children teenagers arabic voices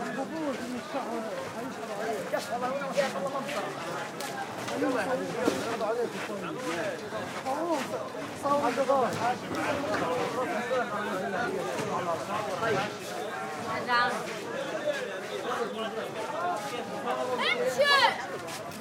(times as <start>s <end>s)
17.4s 18.3s